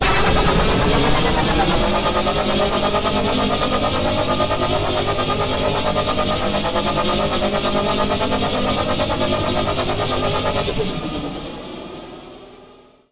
synthetic Engine Sounds 0:00.0 - 0:05.0

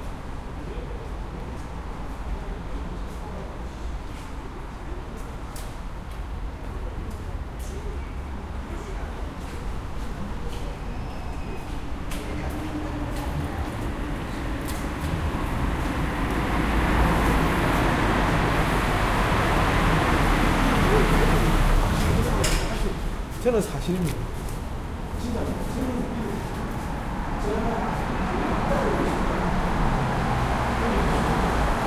Cars 0:00.0 - 0:31.8
people walking 0:09.3 - 0:27.2

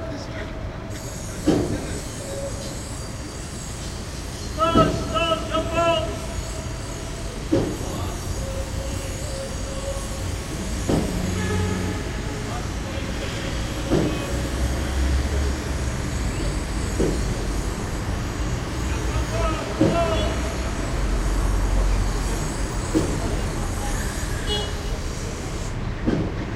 street activity 0:00.0 - 0:26.5

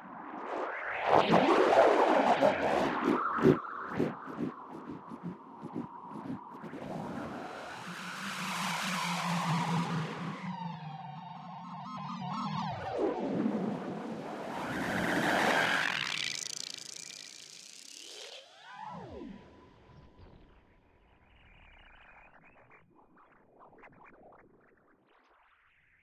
drone 0:01.2 - 0:20.6

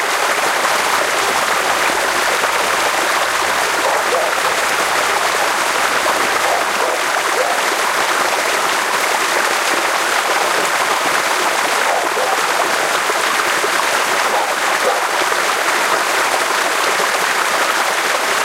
flowing water 0:00.0 - 0:18.4
small dogs barking 0:03.7 - 0:04.8
small dogs barking 0:06.4 - 0:07.7
small dogs barking 0:11.8 - 0:12.7
small dogs barking 0:14.2 - 0:15.2

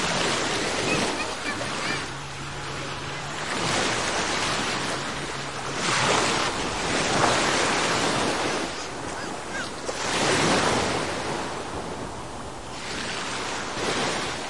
waves on the shore 0:00.0 - 0:14.4
children playing 0:00.7 - 0:02.2

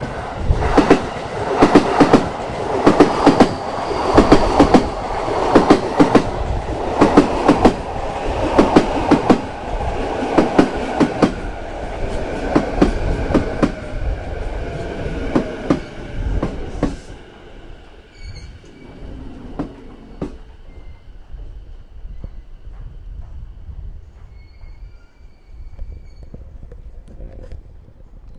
train 0:00.0 - 0:28.3

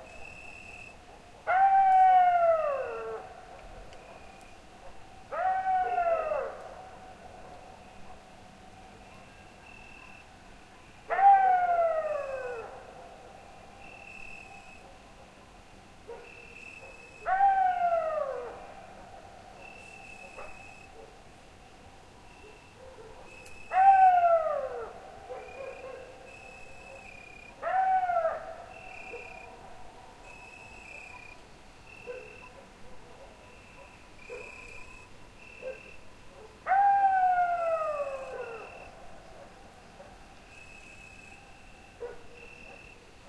coyotes 0:00.0 - 0:43.2
crickets 0:00.0 - 0:01.1
crickets 0:07.6 - 0:11.1
crickets 0:13.5 - 0:14.9
crickets 0:15.7 - 0:18.7
dogs 0:16.0 - 0:17.4
crickets 0:19.5 - 0:32.6
dogs 0:19.6 - 0:21.2
dogs 0:22.4 - 0:24.0
dogs 0:25.2 - 0:29.6
dogs 0:32.0 - 0:34.8
crickets 0:33.2 - 0:36.1
dogs 0:35.6 - 0:36.8
crickets 0:37.2 - 0:43.2
dogs 0:42.0 - 0:43.2

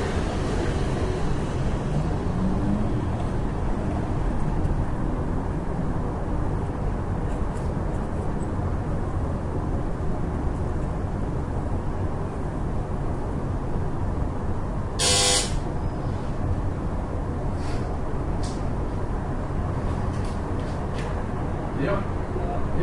urban noise 0:00.0 - 0:22.8
most irritating doorbell 0:15.0 - 0:15.5

